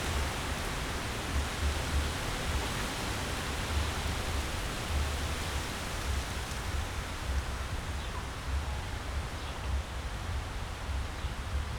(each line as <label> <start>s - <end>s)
fresh wind in the poplar trees 0.0s - 11.7s